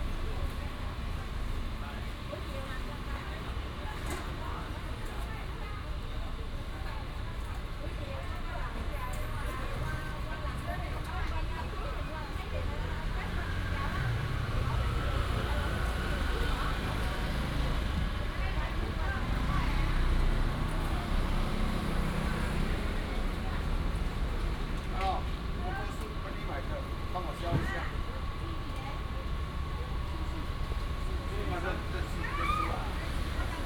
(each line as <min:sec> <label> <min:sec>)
0:00.0 Street vendor selling pineapple 0:33.6
0:09.3 traffic sound 0:33.6